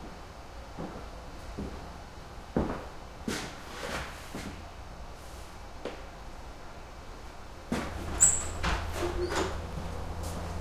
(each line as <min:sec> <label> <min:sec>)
0:07.7 wood stall doors open close 0:09.9
0:09.6 heavy distant highway 0:10.6